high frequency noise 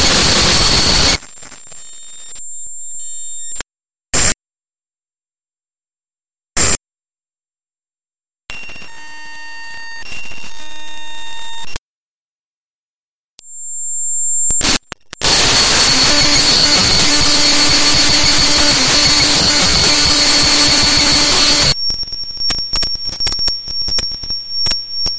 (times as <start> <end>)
0.0 1.2, 15.2 25.1